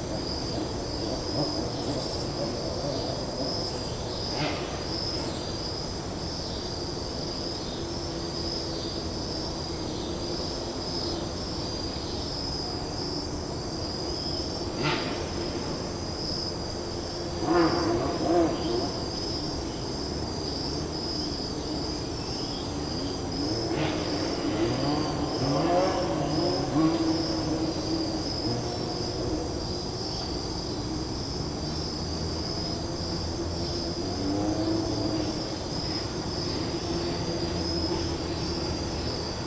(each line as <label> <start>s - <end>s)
auto racing in a parking lot 0.0s - 39.4s